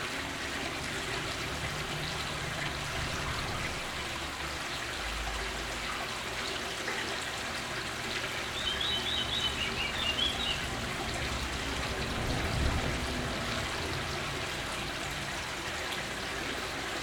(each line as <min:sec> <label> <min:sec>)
0:00.0 stream in tube under stret 0:17.0